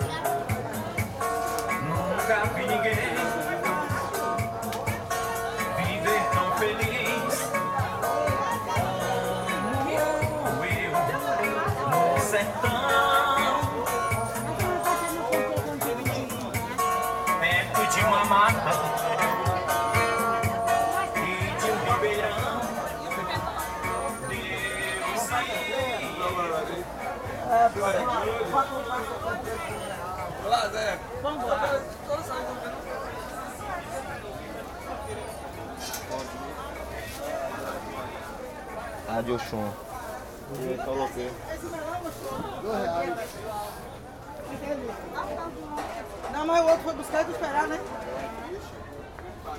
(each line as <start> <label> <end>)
0.0 CD salesman plays arrocha in your sound car 27.7